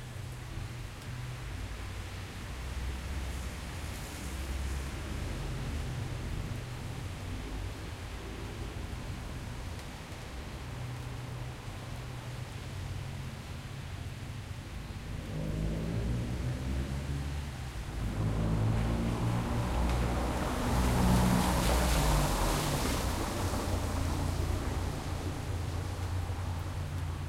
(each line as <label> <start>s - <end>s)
raining over pavement 0.0s - 27.2s
car passing by 2.3s - 8.8s
car passing by 15.0s - 27.2s